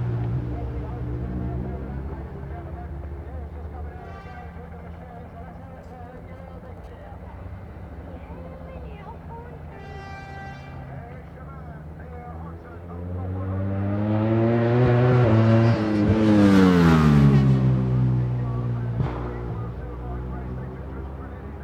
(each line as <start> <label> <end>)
0.0 superbikes 21.6